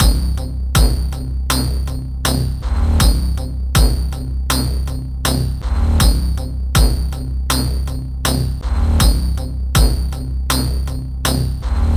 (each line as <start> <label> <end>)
0.0 Percussive Pulse 11.9